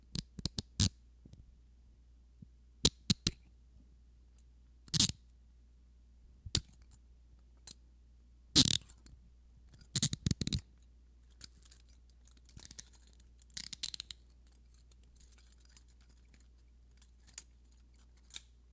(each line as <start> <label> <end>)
2.8 handcuff 3.4
8.6 handcuff 9.1
9.7 handcuff 18.6